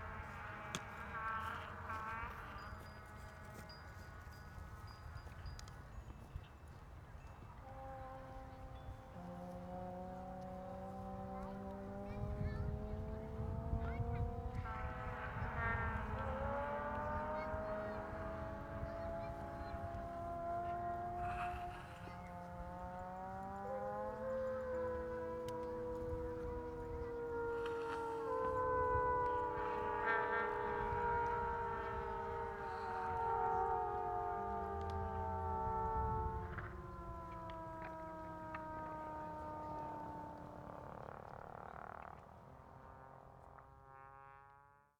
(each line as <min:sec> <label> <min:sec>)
0:00.0 voices 0:44.0
0:00.0 bicycles 0:44.9
0:07.2 trombones 0:40.7
0:07.2 vuvuzelas 0:41.7